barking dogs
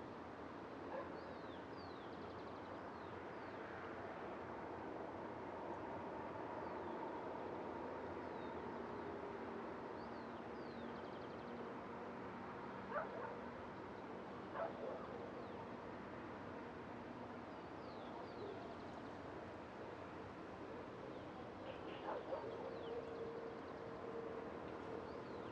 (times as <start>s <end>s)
22.0s 22.6s